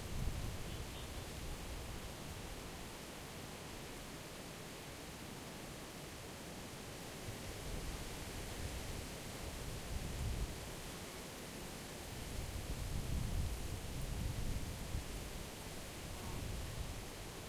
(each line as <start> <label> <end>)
12.2 windy 17.4